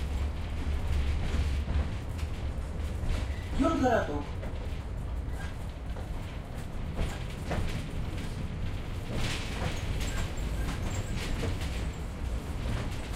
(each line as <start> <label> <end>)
0.0 tram in curves 13.1
3.6 russian talk 4.3